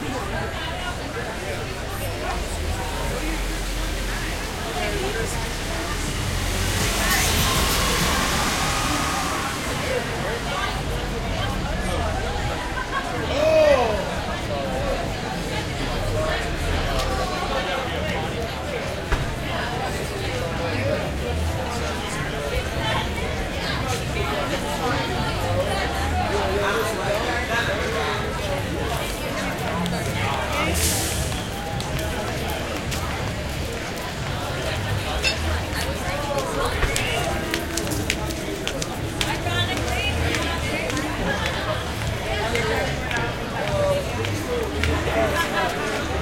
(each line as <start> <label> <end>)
0.0 busy people 46.2
1.7 cars pass wet 13.3